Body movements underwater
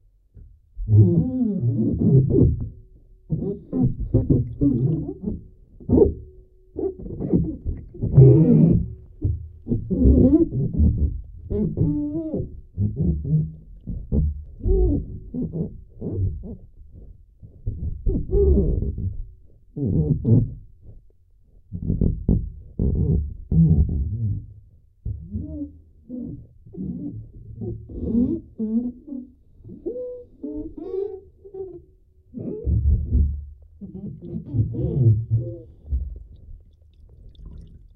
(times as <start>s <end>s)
35.8s 37.9s